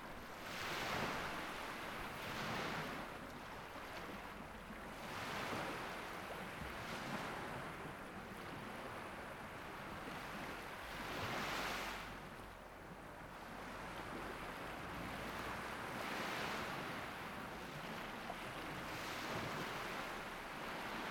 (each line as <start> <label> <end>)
0.0 Calm sea 21.1